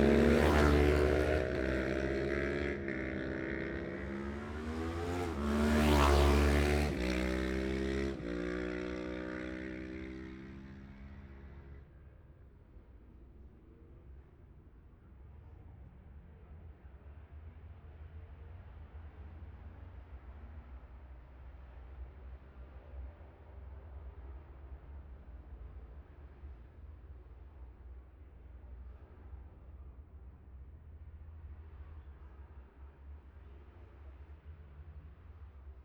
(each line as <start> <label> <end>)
0.0 road racing 12.0